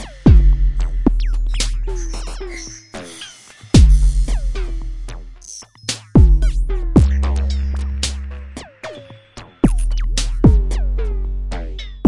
0.0s drum 2.4s
0.0s bass 12.0s
0.0s synthesizer 12.0s
3.8s drum 5.2s
5.9s drum 8.3s
9.6s drum 10.8s

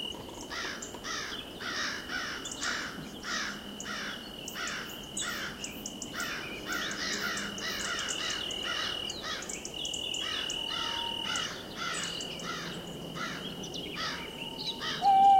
0.0s Tweeting birds 15.3s
0.0s crickets 15.3s
0.5s crows 5.6s
0.5s hooting owls 15.3s
6.2s crows 9.5s
10.2s crows 13.4s

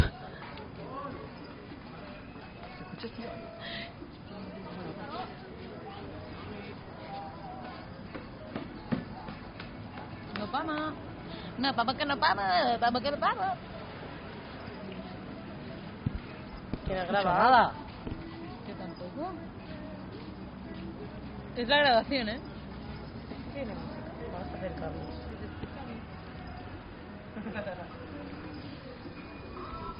0.0s Humans 29.9s
15.6s Steps 27.3s

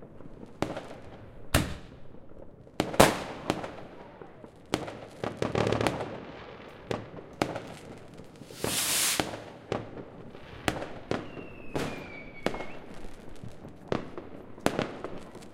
0.0s Fireworks 15.5s
0.0s fire-crackers 15.5s
7.6s rockets 9.7s
8.4s explosions 9.3s

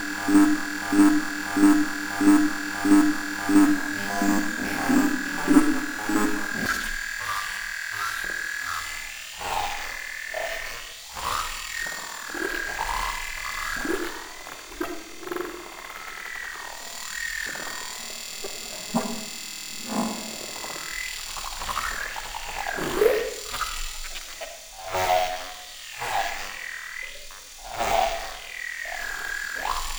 0.0s Warped wave noise 6.9s

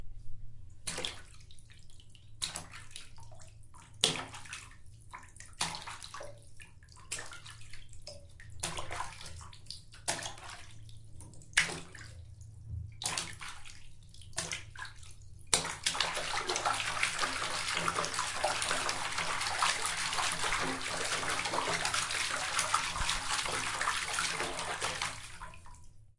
0.9s Splashing Water 1.4s
2.4s Splashing Water 6.4s
7.0s Splashing Water 12.2s
13.0s Splashing Water 25.8s

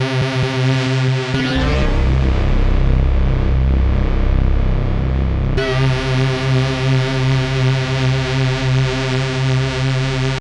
0.0s synthbass 10.4s

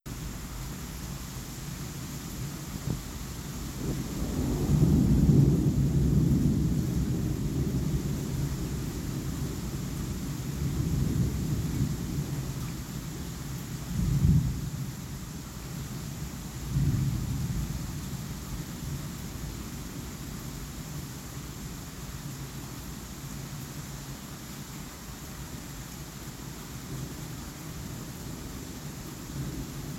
0.1s rain 29.9s
0.1s cicadas 29.9s
0.1s crickets 29.9s
3.7s thunder 12.9s
13.9s thunder 14.9s
16.6s thunder 18.2s

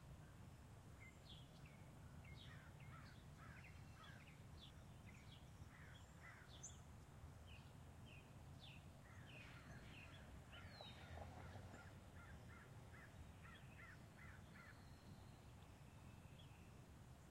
2.5s distant crows 4.2s
5.7s distant crows 6.6s
8.9s distant cars driving by 16.2s
9.0s distant crows 14.9s

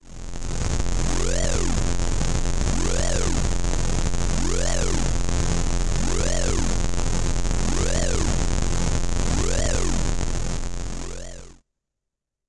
4.4s fuzzy emergency alarm 5.0s
6.0s fuzzy emergency alarm 6.6s
9.4s fuzzy emergency alarm 10.0s

